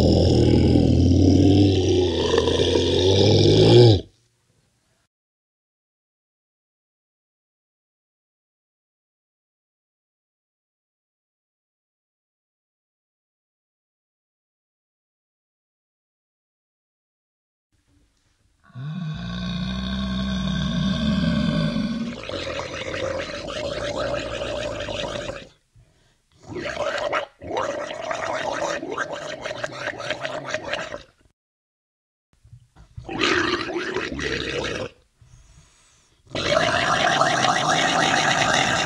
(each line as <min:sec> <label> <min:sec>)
0:00.0 growl 0:04.1
0:18.6 growl 0:25.6
0:26.4 growl 0:31.2
0:33.0 growl 0:35.0
0:36.3 growl 0:38.8